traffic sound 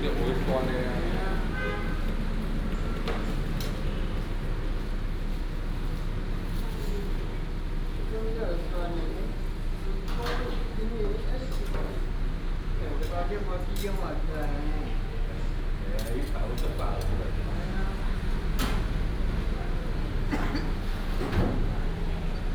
0.0 8.5, 14.8 22.5

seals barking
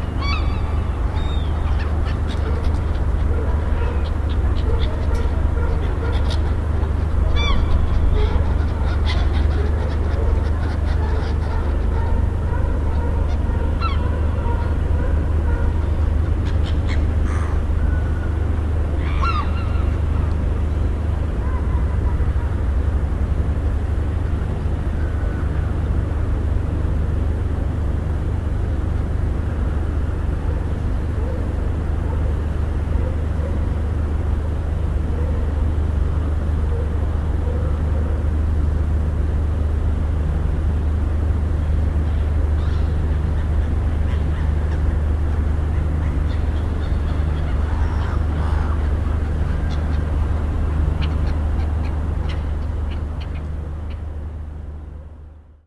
0.0 17.7

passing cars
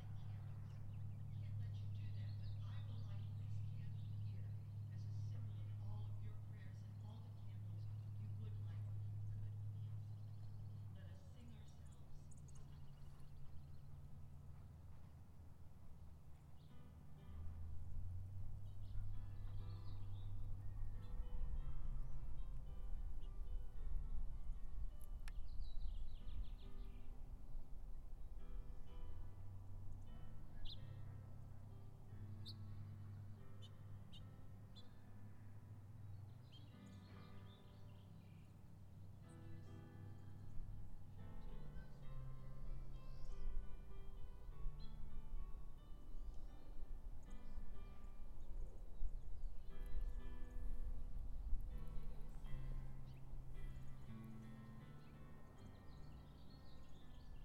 0.0 25.3

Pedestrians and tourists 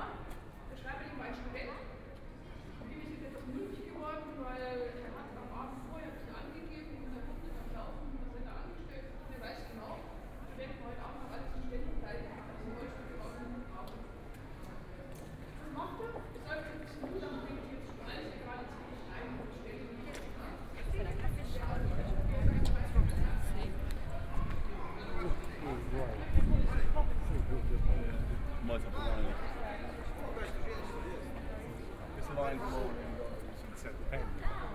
10.8 34.7

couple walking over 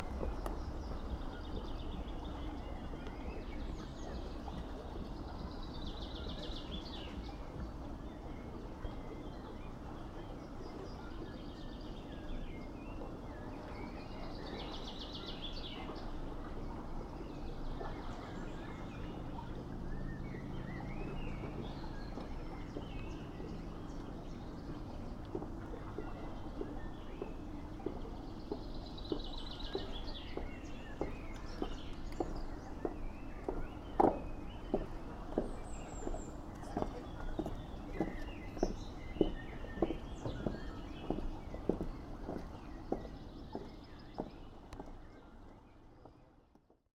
21.4 46.2

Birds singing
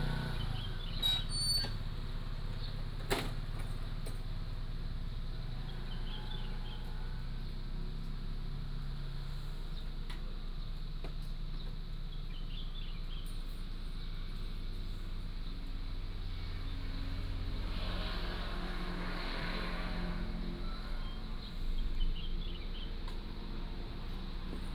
11.5 13.4, 21.0 23.1

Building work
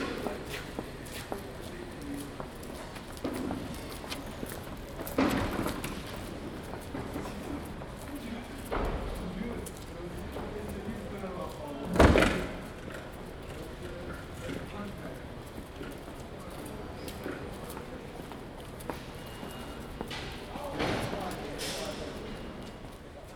15.7 23.3

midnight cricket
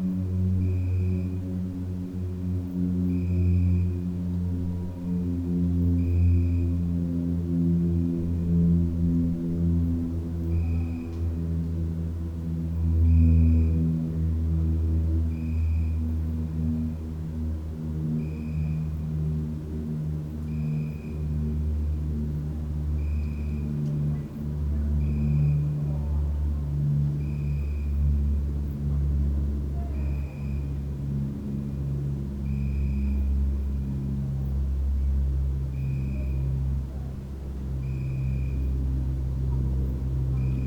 0.4 1.8, 2.8 4.1, 5.9 7.7, 10.5 11.1, 12.8 16.7, 18.2 19.5, 20.4 22.3, 22.9 23.8, 24.5 25.8, 26.7 40.6

